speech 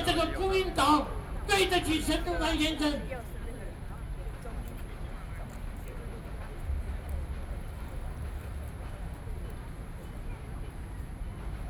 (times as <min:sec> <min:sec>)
0:00.0 0:07.1